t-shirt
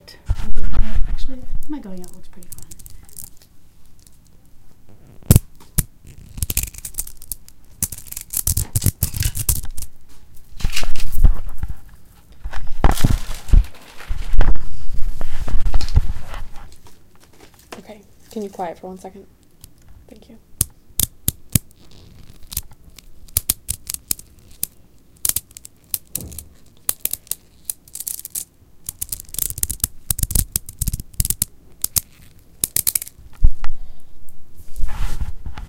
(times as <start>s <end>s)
21.1s 22.5s